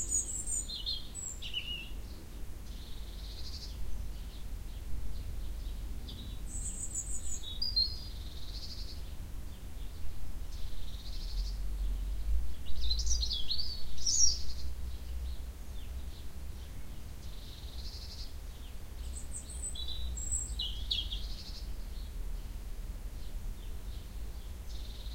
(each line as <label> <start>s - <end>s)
Birdsong 0.0s - 25.1s